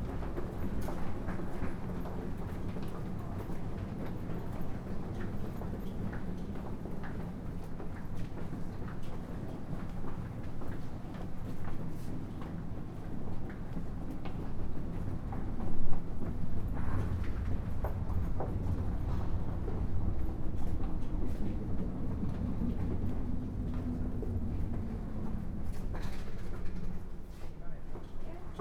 0.0s journey on the London Underground 28.6s

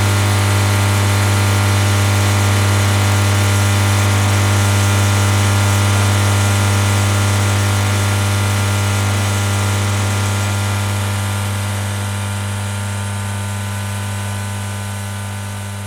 0.0s humming electrical substation transformer box 15.8s

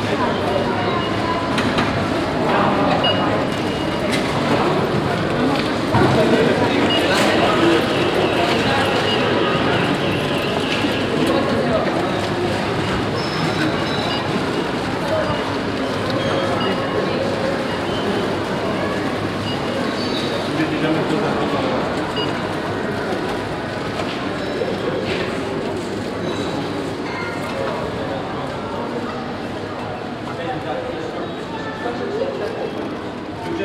0.0s trolleys 29.0s
12.7s peeping of the electronic cash tills 18.2s

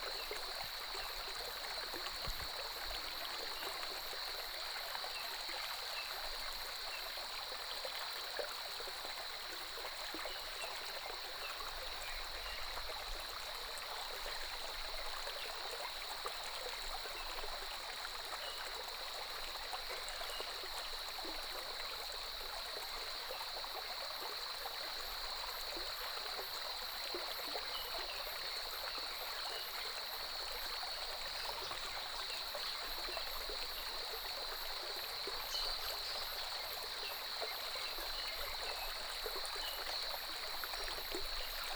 0.0s water streams 41.7s

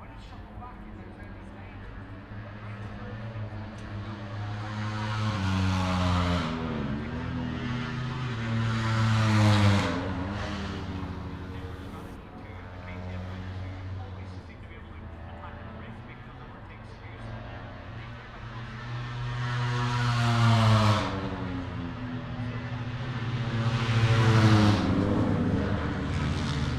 0.0s motorcycle grand prix 26.7s

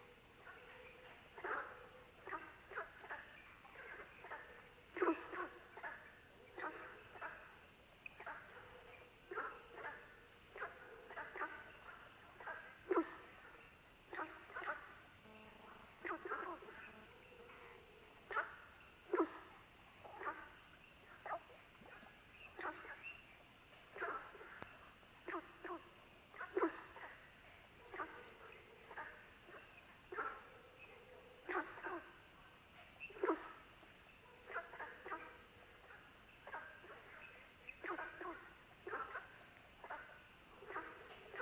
0.0s Frogs chirping 41.4s

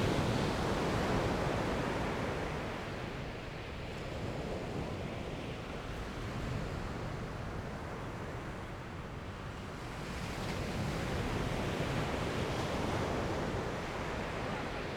0.0s Peacefull waves during the high tide 14.9s

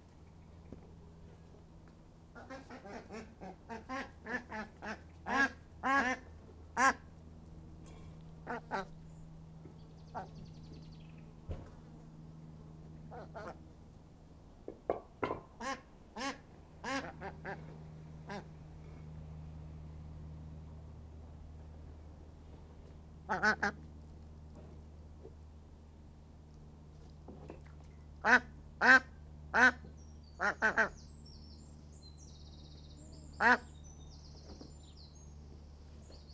2.3s little chuntering duck banter 7.1s
8.4s little chuntering duck banter 9.0s
9.7s little chuntering duck banter 10.4s
13.1s little chuntering duck banter 13.6s
15.6s little chuntering duck banter 18.5s
23.3s little chuntering duck banter 23.9s
28.2s little chuntering duck banter 31.1s
32.8s little chuntering duck banter 34.0s

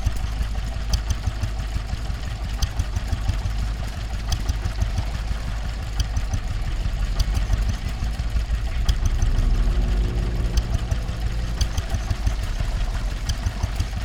0.0s old petrol-driven water pump 14.0s

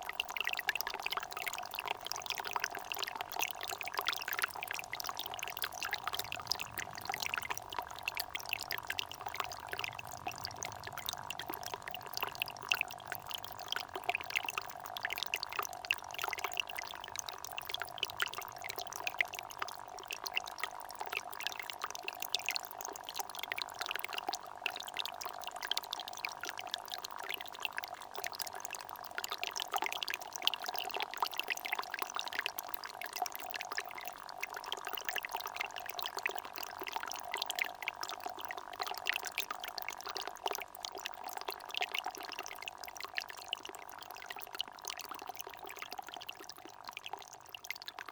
2.8s water gushes from a so small hole 16.3s

